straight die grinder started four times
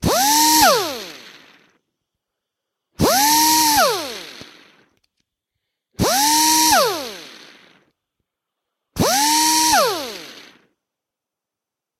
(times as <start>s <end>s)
0.0s 1.7s, 3.0s 4.9s, 6.0s 7.9s, 9.0s 10.7s